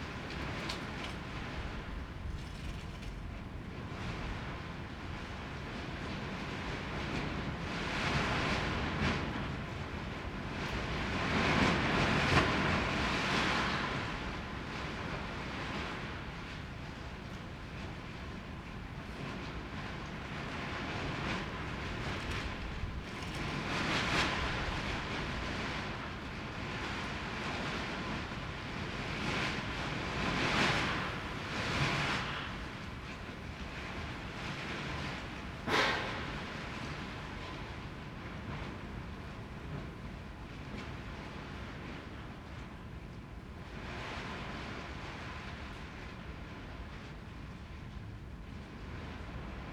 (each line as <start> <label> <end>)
0.0 wind 49.7